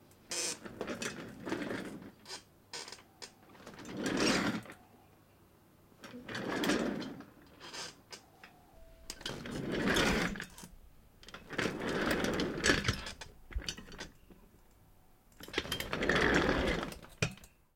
0.2s office chair creaking sound 4.8s
0.4s office chair rolling on hard floor 4.8s
6.0s office chair creaking sound 8.3s
6.0s office chair rolling on hard floor 8.2s
9.1s office chair rolling on hard floor 14.2s
9.1s office chair creaking sound 14.2s
15.4s office chair creaking sound 17.4s
15.4s office chair rolling on hard floor 17.4s

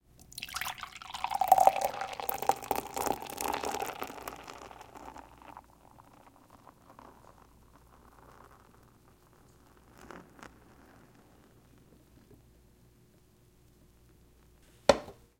0.2s Pouring canned beer Liquid on to glass mug 7.6s
14.9s setting empty can of beer to the side at wood counter table 15.2s

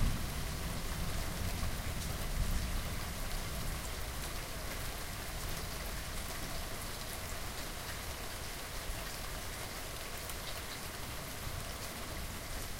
0.0s rain 12.7s

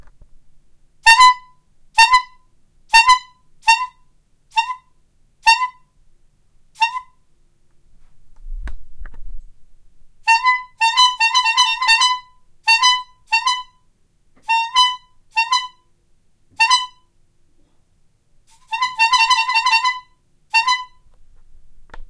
1.0s tooting a bicycle horn 6.0s
6.8s tooting a bicycle horn 7.2s
10.2s tooting a bicycle horn 13.8s
14.4s tooting a bicycle horn 15.9s
16.6s tooting a bicycle horn 17.1s
18.5s tooting a bicycle horn 21.1s

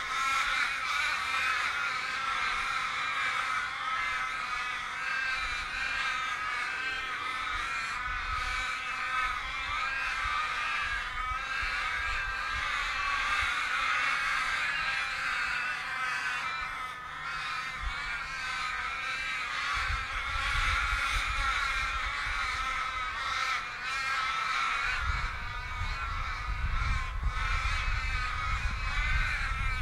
0.0s loud and gregarious murder of crows 29.8s

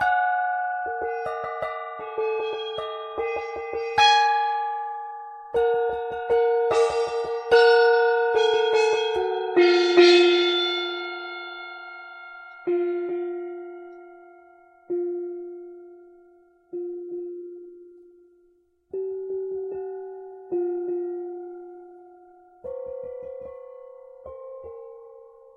0.0s Singing Bowl 18.4s

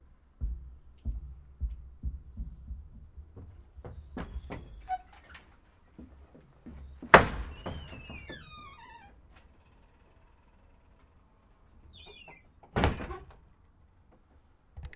0.0s Running up stairs of a wooden porch 10.9s
2.8s slamming a screen door 5.5s
6.8s slamming a screen door 10.9s
11.9s slamming a screen door 13.5s

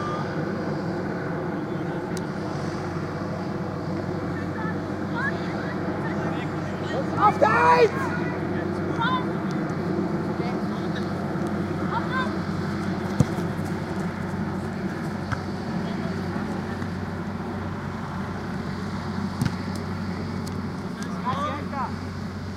0.0s Kids (14-16) playing a real soccergame 22.5s
6.8s Coach shouting 9.3s

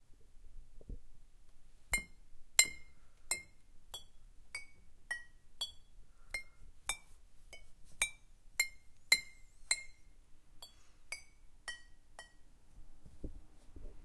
2.0s Glass bottles clinking at different tones 12.5s

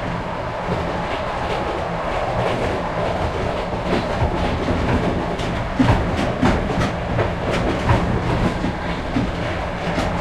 0.0s train 10.2s

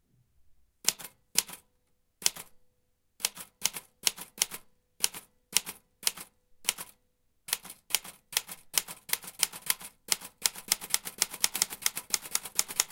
0.9s old typewriter 2.5s
3.2s old typewriter 12.9s

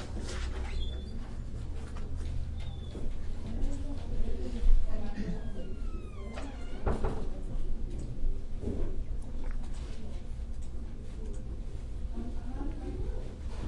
5.2s doors 7.5s

